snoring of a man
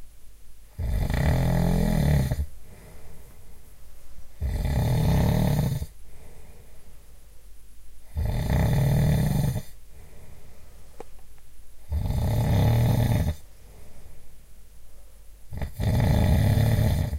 0.8s 2.5s, 4.4s 5.9s, 8.1s 9.8s, 11.9s 13.4s, 15.5s 17.1s

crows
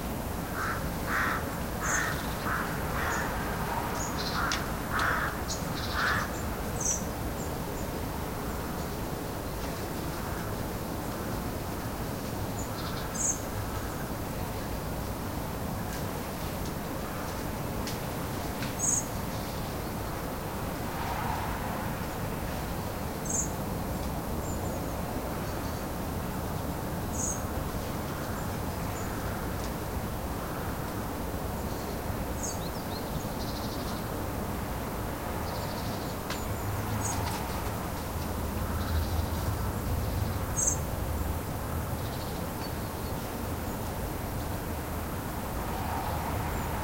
0.6s 6.4s

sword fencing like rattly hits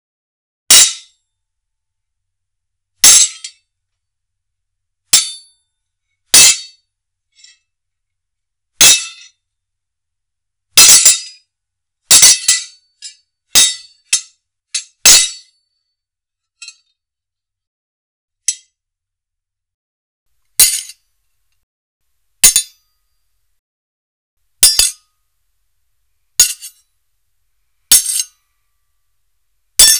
5.2s 5.4s, 10.8s 11.4s, 12.1s 12.8s, 13.6s 15.5s, 20.6s 21.0s, 22.4s 22.8s, 24.6s 25.1s, 26.4s 26.8s, 27.9s 28.4s, 29.8s 29.9s

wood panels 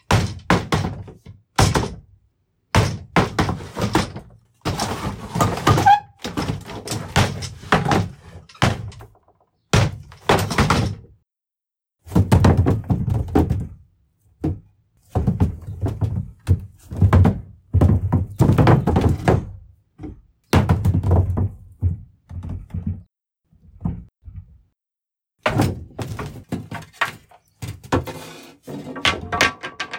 0.0s 2.0s, 2.7s 11.0s, 14.5s 23.1s, 25.4s 29.9s

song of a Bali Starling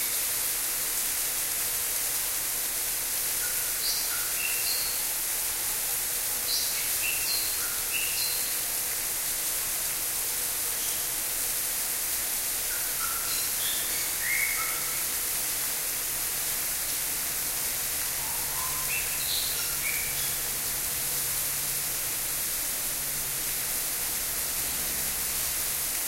12.7s 15.2s, 18.1s 20.6s

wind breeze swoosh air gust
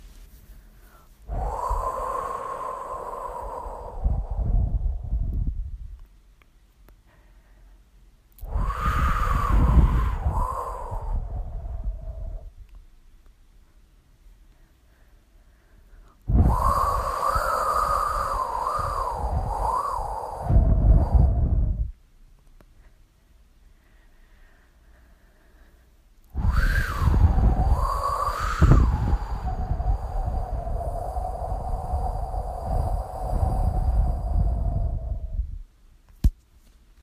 1.2s 6.0s, 8.4s 12.6s, 16.3s 22.0s, 26.3s 35.7s

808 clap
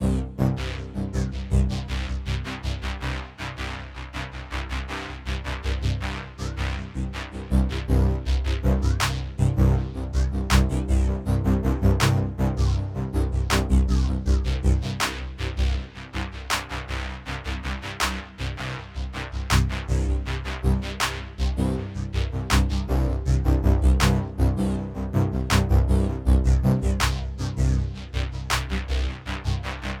9.0s 9.3s, 10.5s 10.8s, 12.0s 12.2s, 13.5s 13.8s, 16.5s 16.8s, 18.0s 18.3s, 19.5s 19.8s, 22.5s 22.8s, 24.0s 24.2s, 25.5s 25.8s, 27.0s 27.3s, 28.5s 28.8s

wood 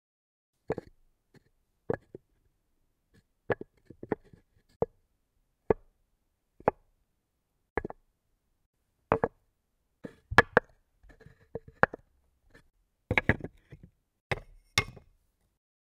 9.1s 9.4s, 10.0s 15.1s

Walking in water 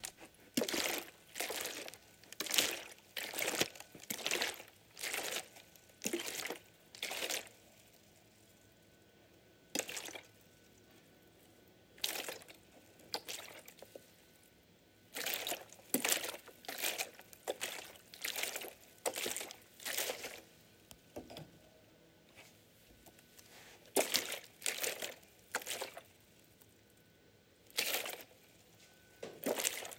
0.0s 7.6s, 9.8s 10.3s, 12.0s 14.0s, 15.2s 20.4s, 23.8s 26.2s, 27.7s 28.3s, 29.4s 29.9s

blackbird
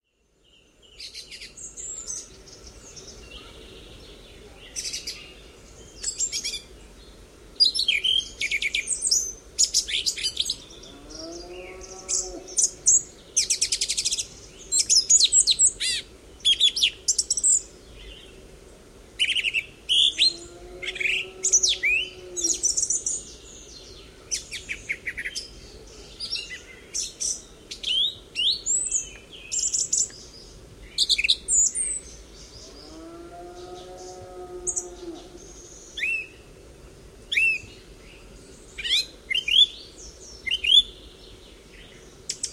19.2s 36.4s, 37.3s 42.5s

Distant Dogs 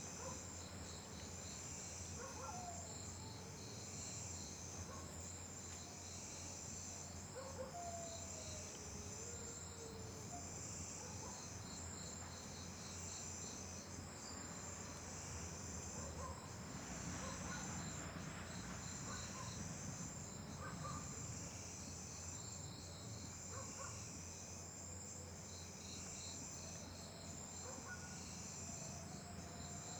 0.1s 0.6s, 2.1s 3.6s, 4.8s 5.3s, 7.3s 11.6s, 15.9s 16.6s, 17.2s 18.0s, 18.9s 19.7s, 20.5s 21.2s, 23.4s 24.0s, 26.7s 29.9s

